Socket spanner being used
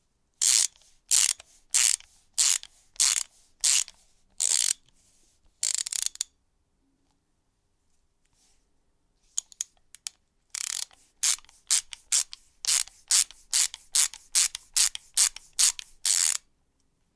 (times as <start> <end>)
0.4 4.8, 5.6 6.3, 9.4 16.4